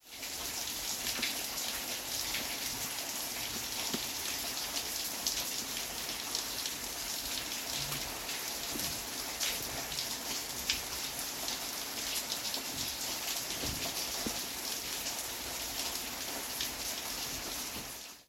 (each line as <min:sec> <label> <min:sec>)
0:00.0 freezing rain 0:18.2